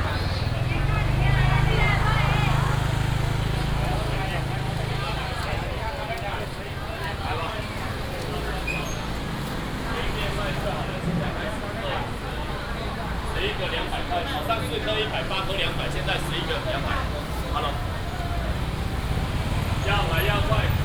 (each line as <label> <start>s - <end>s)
traffic sound 0.0s - 20.8s
vendors peddling 0.0s - 20.8s